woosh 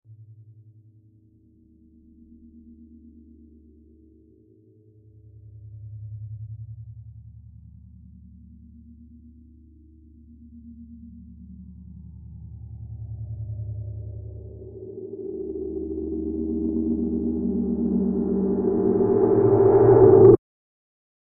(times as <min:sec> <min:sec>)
0:14.6 0:20.4